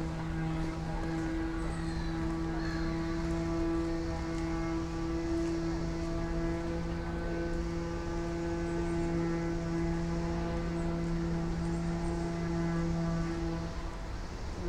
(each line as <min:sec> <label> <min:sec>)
0:00.0 passengers 0:14.6